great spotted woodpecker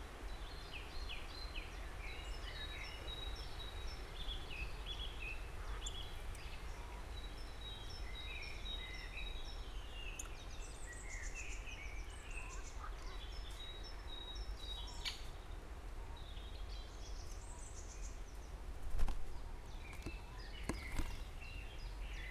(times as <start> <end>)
16.2 22.3